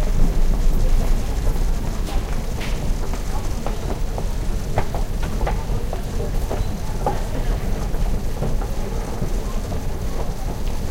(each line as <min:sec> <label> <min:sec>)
0:02.0 footsteps 0:05.6